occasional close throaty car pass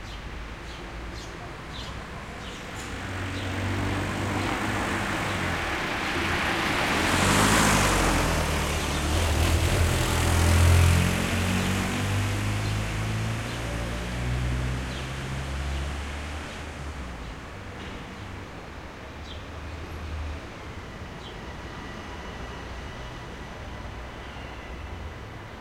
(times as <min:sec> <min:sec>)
0:02.4 0:17.6